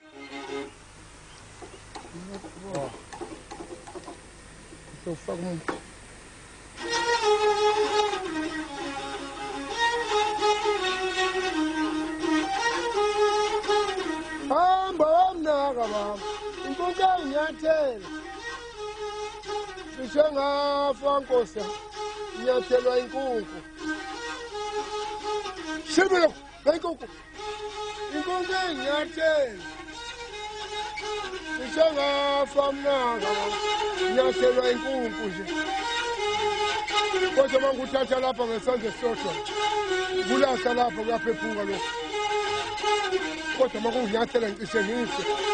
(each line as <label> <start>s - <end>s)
traditional street busker 0.0s - 45.5s